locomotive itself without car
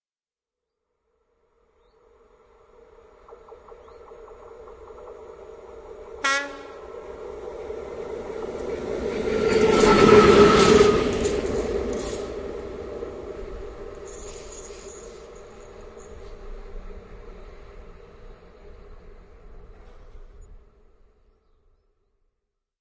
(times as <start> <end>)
2.7 20.5